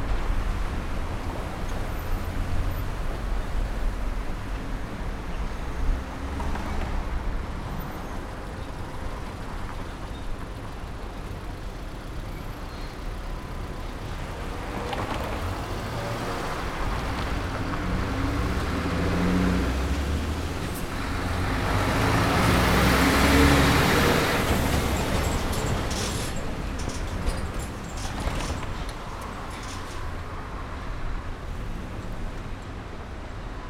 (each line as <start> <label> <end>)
0.1 autos 33.6
7.2 straßenbahnen 33.6